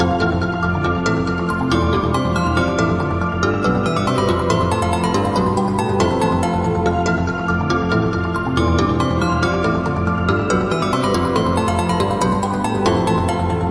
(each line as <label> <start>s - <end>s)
melody 0.0s - 13.7s